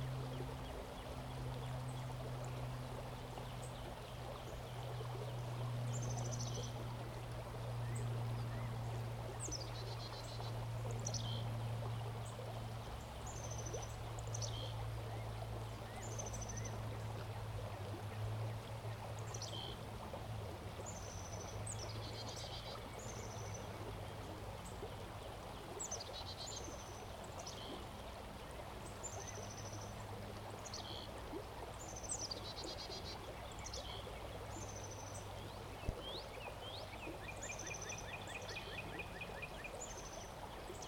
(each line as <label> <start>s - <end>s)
Kiefer Creek Bend 0.0s - 40.8s